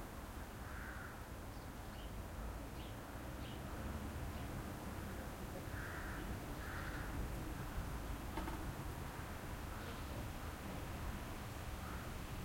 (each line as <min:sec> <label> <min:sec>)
0:00.6 crows 0:01.2
0:05.0 crows 0:07.2
0:11.8 crows 0:12.2